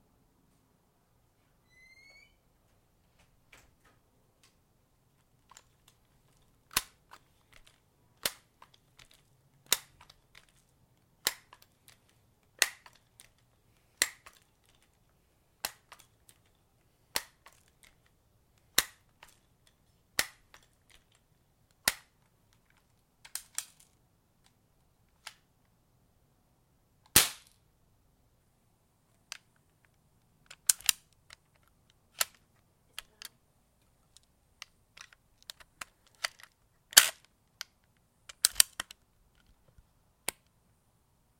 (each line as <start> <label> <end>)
5.2 rattling bb's 24.6
27.2 gun 27.5
29.3 rattling bb's 40.5